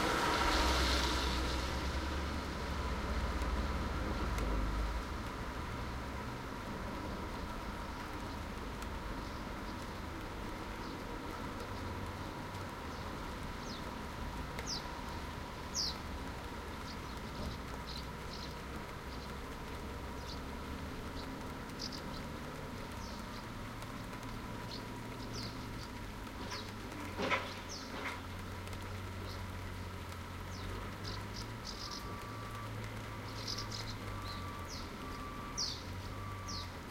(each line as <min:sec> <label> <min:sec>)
0:00.0 rain 0:36.9
0:00.0 traffic at the bottom of the road 0:36.9
0:12.9 bird song 0:13.9
0:14.6 bird song 0:14.9
0:15.7 bird song 0:16.0
0:16.8 bird song 0:19.4
0:20.2 bird song 0:22.3
0:22.9 bird song 0:28.2
0:30.5 bird song 0:36.8
0:31.8 truck reversing 0:36.9